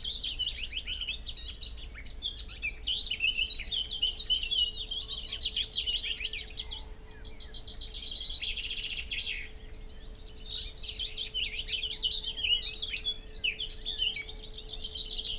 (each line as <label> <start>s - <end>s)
Willow warbler song and call 0.0s - 15.3s